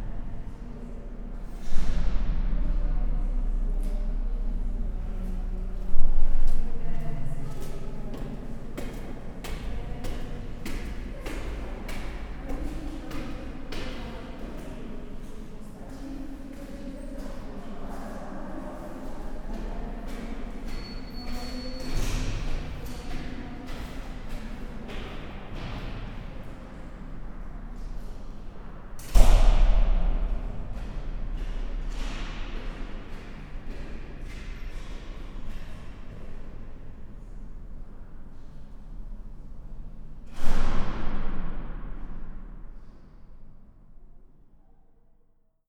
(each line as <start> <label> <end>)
6.7 workers going up the stairs 17.8
18.4 workers going up the stairs 29.1